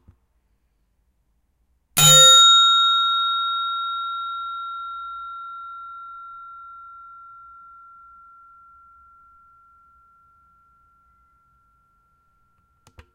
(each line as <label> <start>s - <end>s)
Reception Bell With Strange Resonance 2.0s - 12.8s